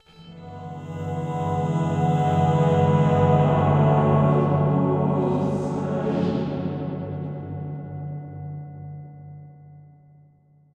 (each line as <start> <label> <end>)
0.0 Angelic voices 7.9
0.0 strings 8.2